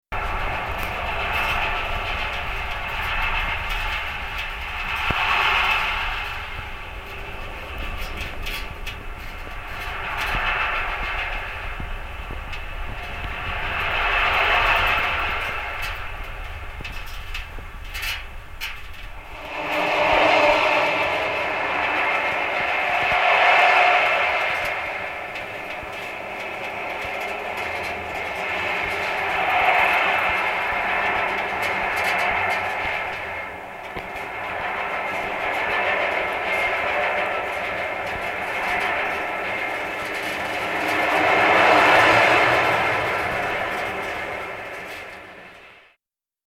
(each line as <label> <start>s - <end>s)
Lift in pylon 18.6s - 45.8s